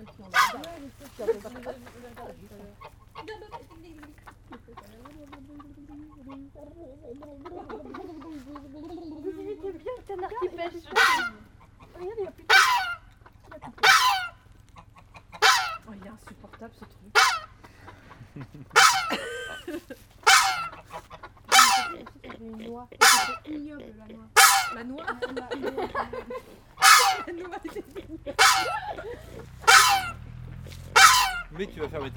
0.0s Geese are shouting 0.7s
10.8s Geese are shouting 16.0s
17.0s Geese are shouting 19.2s
20.2s Geese are shouting 22.2s
23.0s Geese are shouting 23.4s
24.4s Geese are shouting 25.2s
26.7s Geese are shouting 30.3s
29.6s children scream 30.2s
30.9s Geese are shouting 32.1s

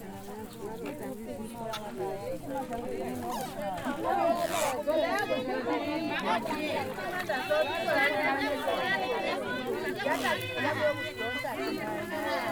0.0s weave their baskets together 12.5s

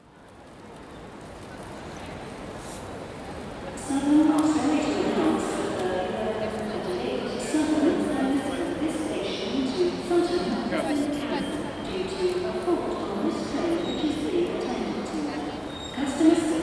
3.8s Arrival and departure announcements 16.6s

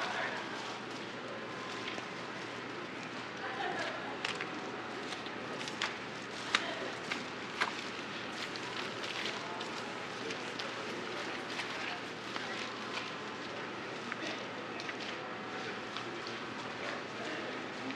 0.0s pedestrians are walking through the snowy sidewalks 17.9s

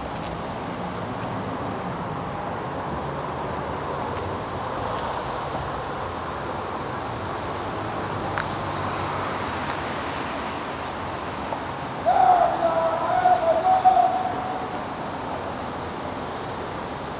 12.0s L'harrangueur 14.8s

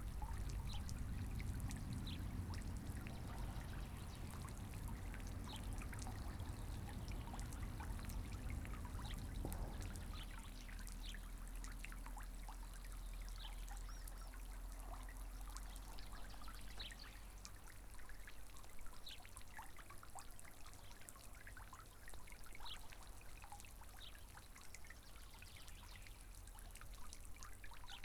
0.0s fountain 28.0s

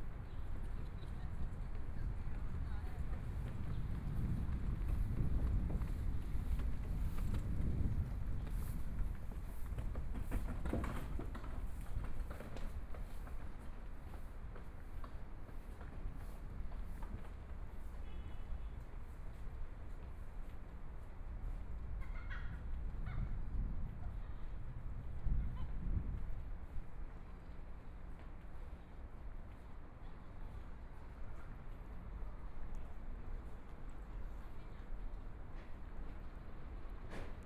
26.1s Walking through the park 37.4s

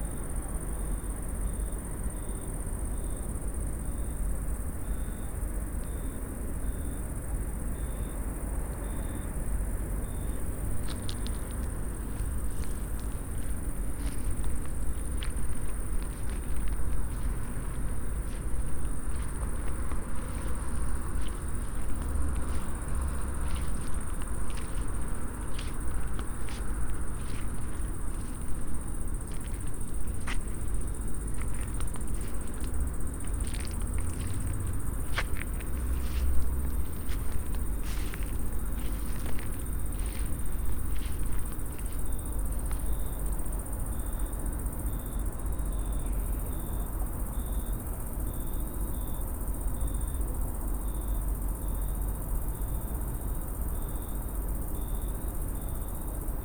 0.0s crickets 56.4s
0.0s train 56.4s
8.6s car traffic 43.9s
8.7s night hum 45.0s

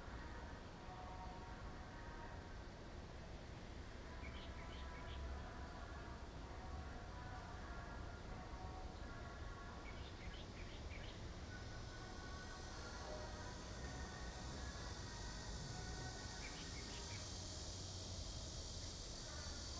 0.0s The train runs through 19.7s
4.0s Cicada cry 6.3s
8.9s Cicada cry 19.7s

